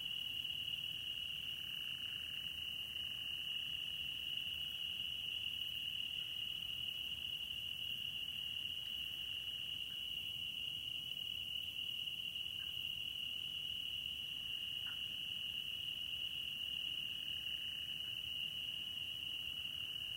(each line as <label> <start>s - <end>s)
crickets 0.0s - 20.1s
soft frog calls 14.5s - 15.2s